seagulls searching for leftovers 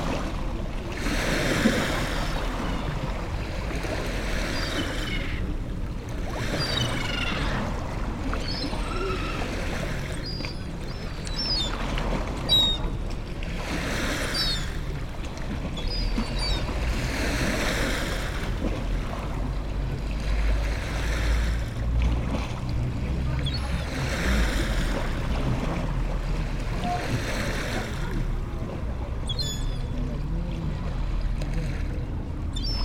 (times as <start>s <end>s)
4.4s 5.5s, 6.3s 13.0s, 14.0s 14.9s, 15.8s 17.6s, 29.2s 30.0s, 32.5s 32.8s